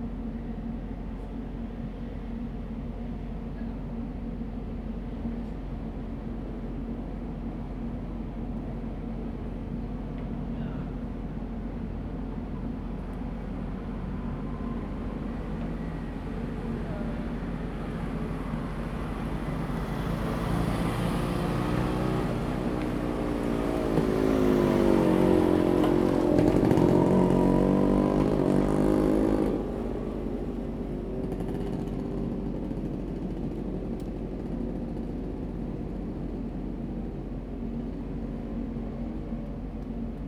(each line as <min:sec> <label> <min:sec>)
0:13.5 Traffic Sound 0:36.6